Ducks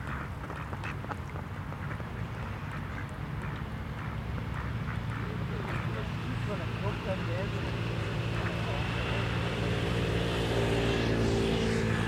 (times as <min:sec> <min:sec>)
0:00.0 0:07.0